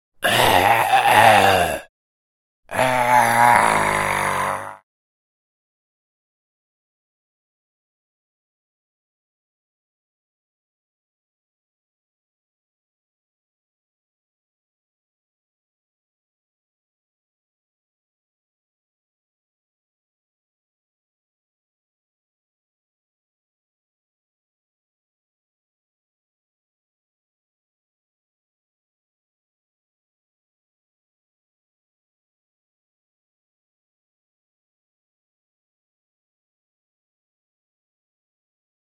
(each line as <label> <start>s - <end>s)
Low raspy male groans 0.2s - 1.9s
breathy portions 0.2s - 1.9s
Low raspy male groans 2.7s - 4.8s
breathy portions 2.7s - 4.8s